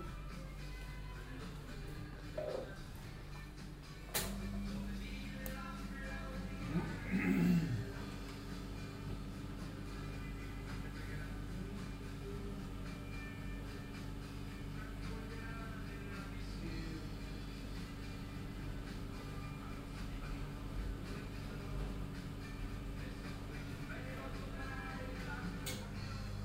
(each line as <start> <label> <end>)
1.2 capuccino zubereitung 3.0
4.2 capuccino zubereitung 9.2